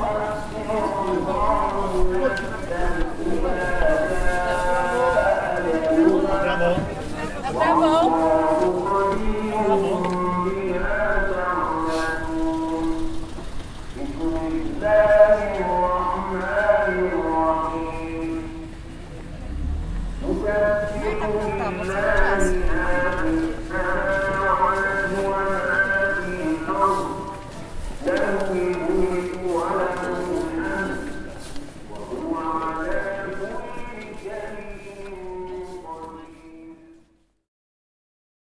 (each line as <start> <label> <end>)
0.0 evening prayer is being announced 37.4
0.0 People are passing by 37.5